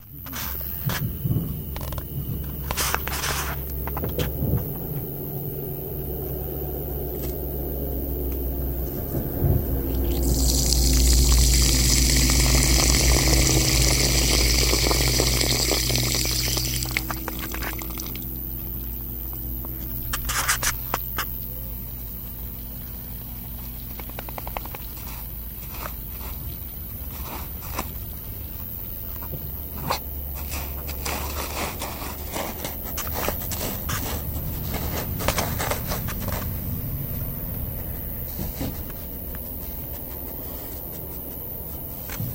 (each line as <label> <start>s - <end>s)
dragnoise 0.0s - 42.3s
liquid 10.0s - 18.4s